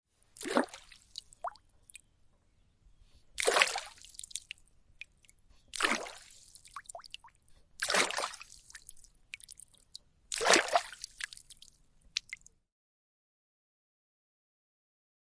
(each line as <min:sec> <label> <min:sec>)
0:00.4 Water Splash in Lake 0:01.6
0:03.4 Water Splash in Lake 0:04.5
0:05.8 Water Splash in Lake 0:07.1
0:07.8 Water Splash in Lake 0:09.6
0:10.3 Water Splash in Lake 0:11.6